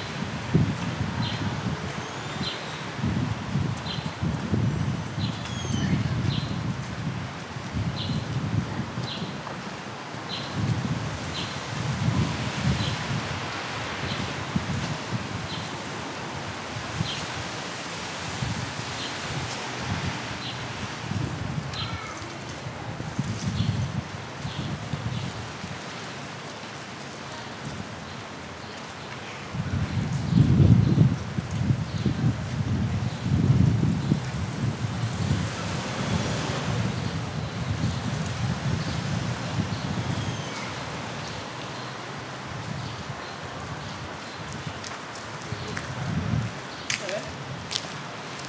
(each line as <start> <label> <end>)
0.0 walkers in the street 48.4
19.2 people in the terrasse 23.6
25.8 people in the terrasse 30.3
34.1 people in the terrasse 48.4